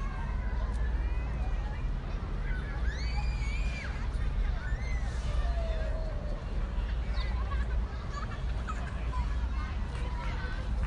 Children laughing and shrieking 0.0 - 9.8
people are walking 0.0 - 10.8

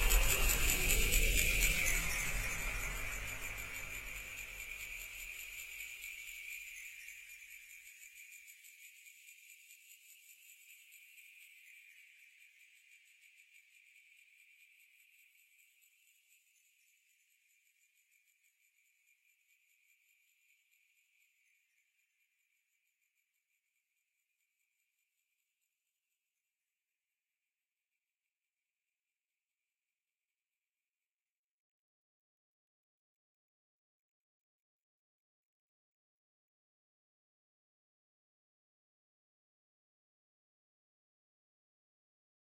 Accelerating and Decelerating Panning Pulse 0.0 - 4.8

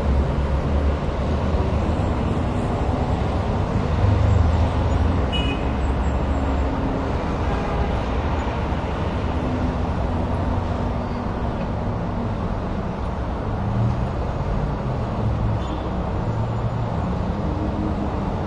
Traffic 0.0 - 18.4

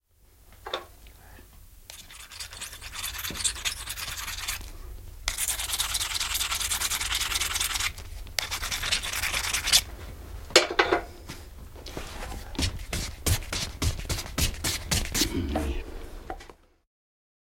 shoemaker sharpening a knife with a hone and thong 1.9 - 4.6

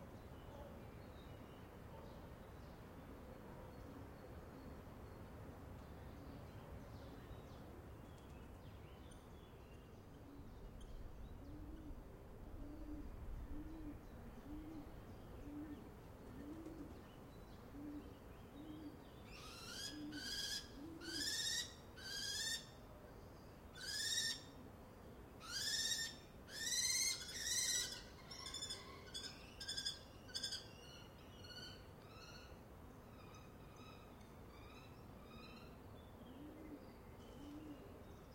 bird sounds 0.0 - 38.3
wind 0.0 - 38.3
pigeons 10.3 - 17.1
pigeons 36.4 - 38.3

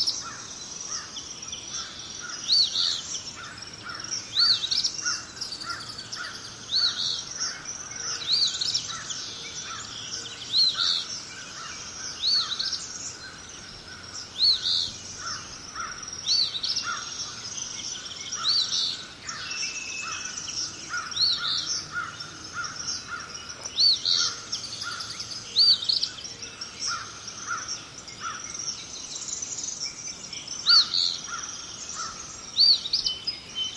crow 0.0 - 9.9
crickets 0.0 - 33.7
crow 10.6 - 17.4
crow 18.4 - 25.8
crow 26.8 - 28.5
crow 30.7 - 32.3

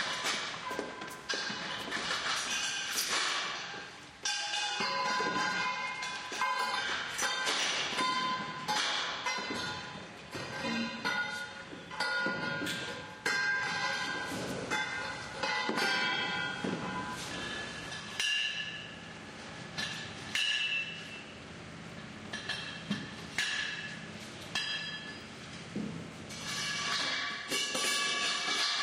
clanging tubes are dragged to the hoister 0.0 - 19.0
clanging tubes are dragged to the hoister 26.3 - 28.8

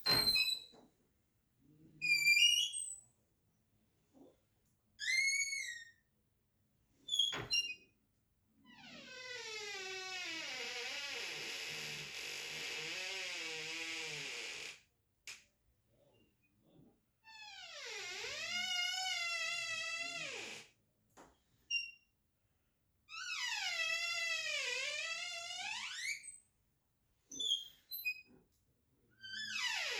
bathroom door squeaking and creaking 0.0 - 0.7
bathroom door squeaking and creaking 7.1 - 7.9
bathroom door squeaking and creaking 8.8 - 14.8
bathroom door squeaking and creaking 17.3 - 20.7
bathroom door squeaking and creaking 23.2 - 26.4
bathroom door squeaking and creaking 27.3 - 28.3
bathroom door squeaking and creaking 29.2 - 29.9

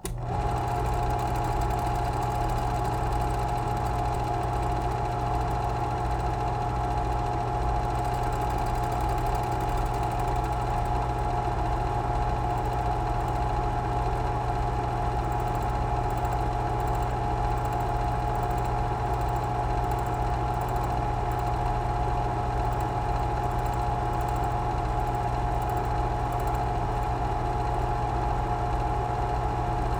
film projector switching on, running and switching off 0.0 - 29.9

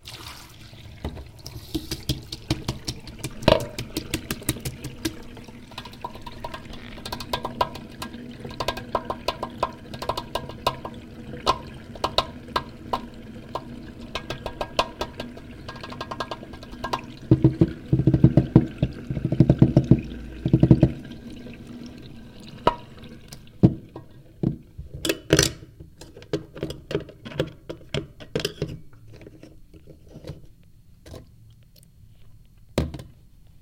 Water 0.0 - 31.4
Drumming with my finger on a metallic, wet sink 1.8 - 21.2

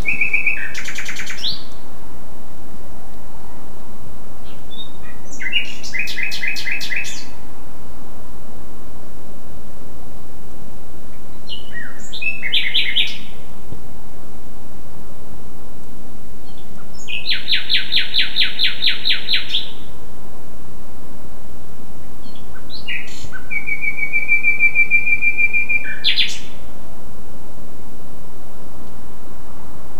single nightingale 0.0 - 2.1
single nightingale 4.2 - 7.5
single nightingale 11.0 - 13.8
single nightingale 16.3 - 20.0
single nightingale 21.9 - 27.0

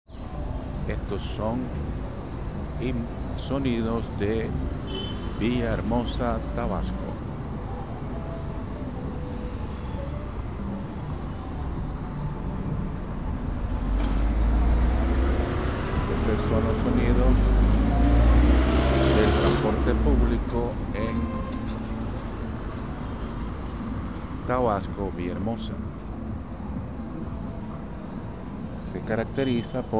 traffic 0.1 - 29.9
voices 0.2 - 22.4

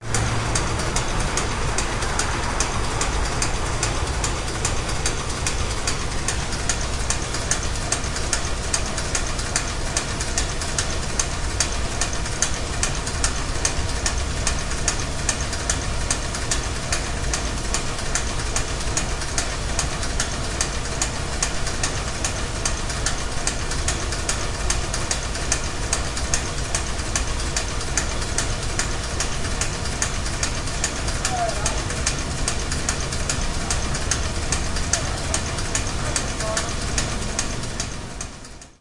Light machinery running, clicking, clacking 0.0 - 38.8
voices 31.1 - 37.4

